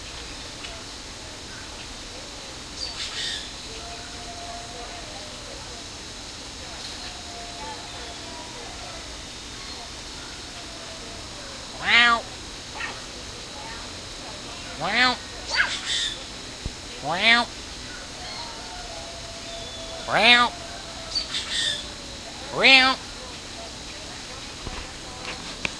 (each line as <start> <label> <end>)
10.4 Talking to a cougar 16.0
17.0 Talking to a cougar 17.5
18.2 cougar 23.0
19.9 Talking to a cougar 20.6
22.3 Talking to a cougar 23.1